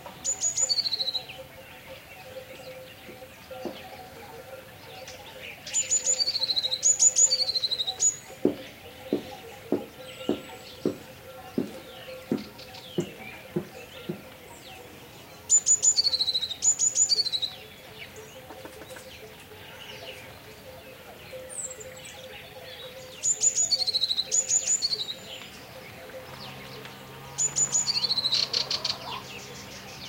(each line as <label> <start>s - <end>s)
bird singing close 0.0s - 30.0s
sheep bells 0.0s - 30.0s